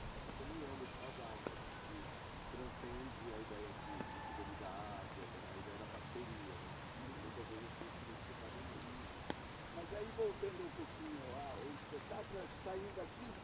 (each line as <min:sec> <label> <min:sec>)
0:00.0 chuva 0:13.4